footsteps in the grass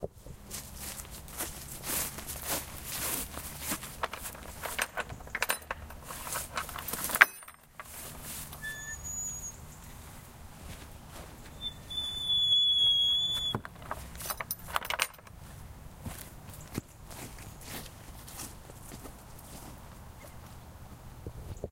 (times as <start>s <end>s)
0.2s 7.1s, 7.7s 8.6s, 9.7s 11.9s, 15.3s 21.1s